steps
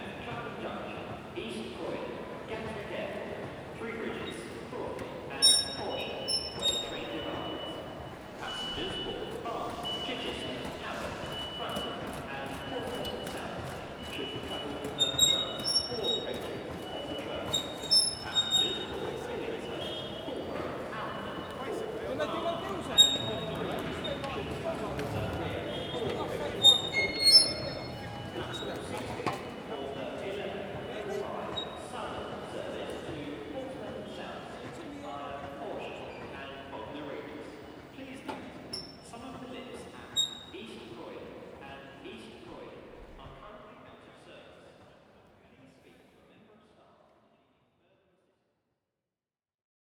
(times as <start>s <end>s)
8.4s 36.4s